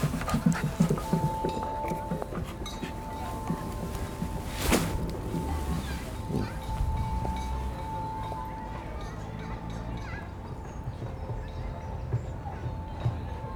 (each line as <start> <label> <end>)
0.0 little dog 8.0